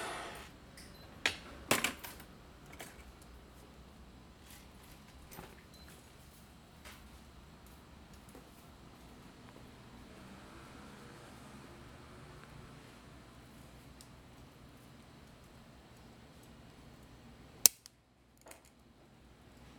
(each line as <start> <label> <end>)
0.0 Welding and cutting the iron sheet 0.5